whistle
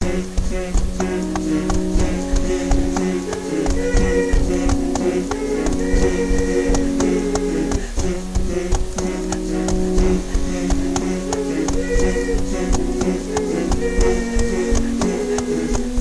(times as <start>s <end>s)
3.4s 7.7s, 11.5s 15.8s